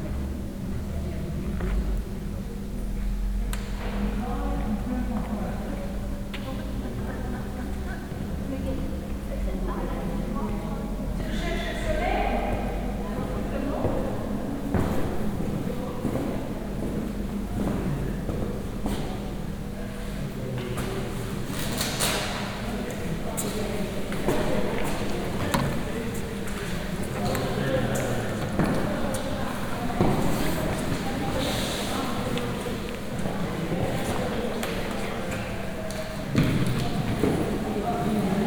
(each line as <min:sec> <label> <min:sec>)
0:04.0 voices of a large group of French tourists 0:18.5
0:21.8 voices of a large group of French tourists 0:38.4